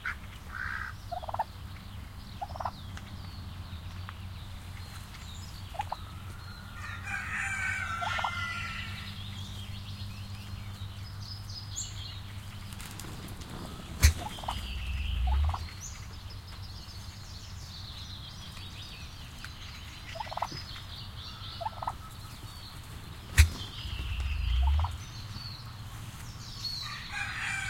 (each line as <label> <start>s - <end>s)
birds in the bg 0.0s - 27.6s